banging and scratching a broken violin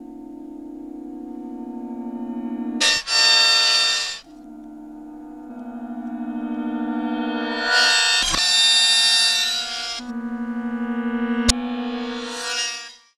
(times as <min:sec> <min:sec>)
0:02.8 0:04.2, 0:07.7 0:10.1